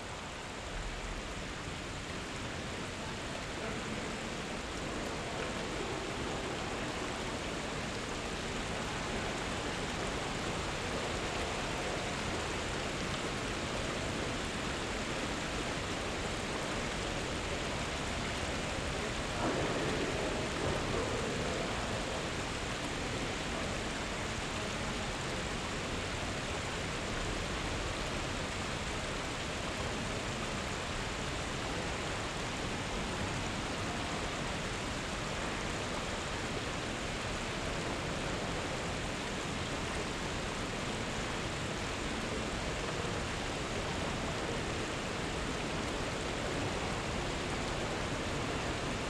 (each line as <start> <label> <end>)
0.0 water streaming by 49.0
3.0 people talking 12.4
16.5 people talking 26.6